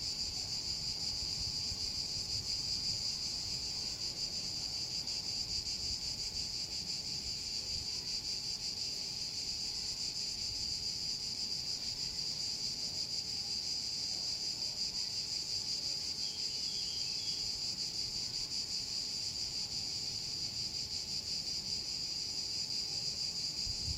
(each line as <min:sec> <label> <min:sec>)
0:23.6 wind picks up 0:23.9